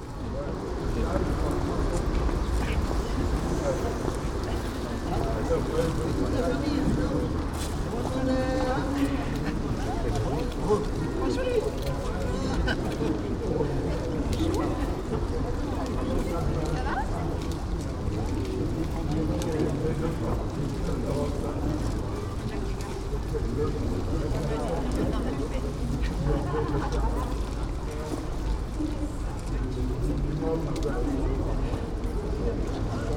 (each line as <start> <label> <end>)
0.0 passersby 33.1